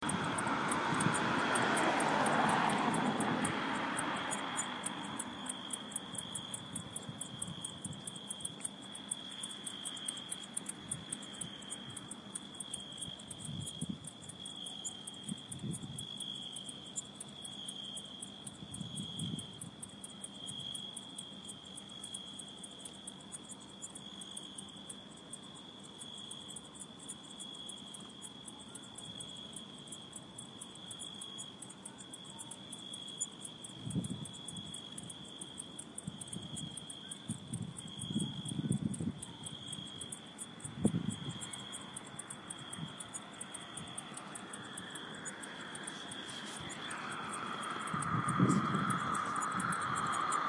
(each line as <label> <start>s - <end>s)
Cicades Singing 0.0s - 50.4s